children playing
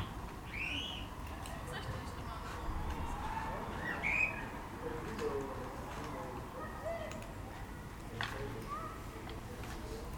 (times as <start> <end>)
5.9 9.8